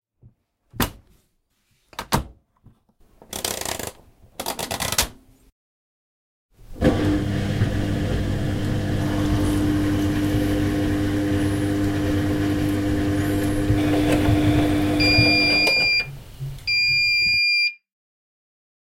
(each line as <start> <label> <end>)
6.6 washing machine 16.1